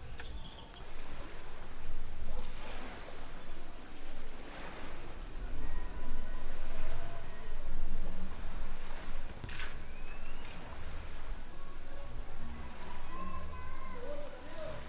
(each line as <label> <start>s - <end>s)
lake waves 0.0s - 14.8s
near and distant birds 0.0s - 14.8s
kids and fathers voices 11.6s - 14.8s